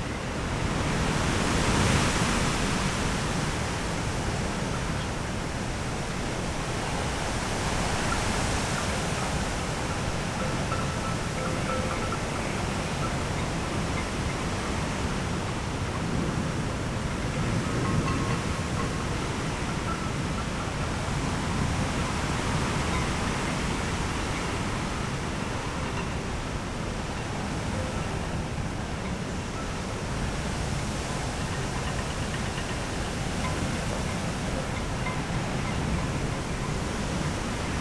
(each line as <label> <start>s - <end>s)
wind blown birch trees 0.0s - 37.8s